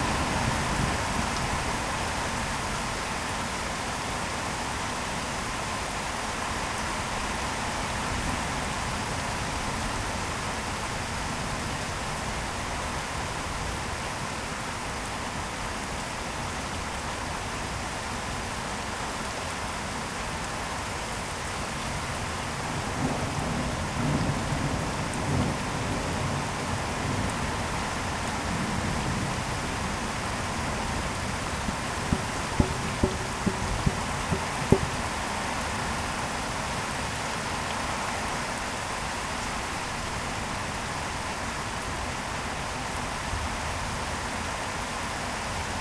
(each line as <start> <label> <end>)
0.0 Heavy rain 45.8
30.4 Dropping water makes some drum sounds 35.6
30.7 distant thunder 35.2